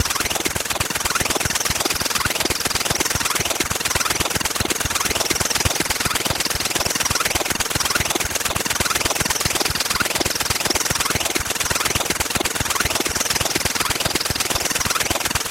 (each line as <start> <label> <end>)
0.0 Mechanical flanging rotary 15.5